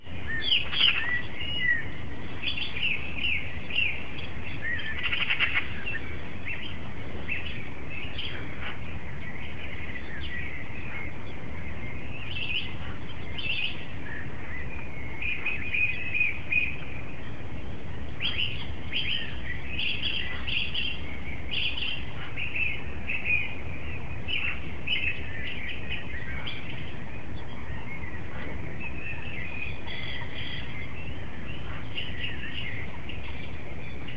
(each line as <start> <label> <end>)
0.0 birds 34.1